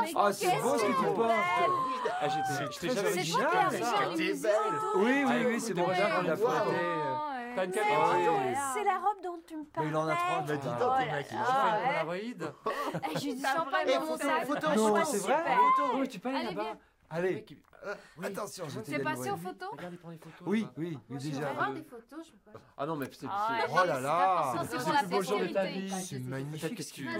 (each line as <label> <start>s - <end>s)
walla 0.0s - 16.8s
walla 23.1s - 27.1s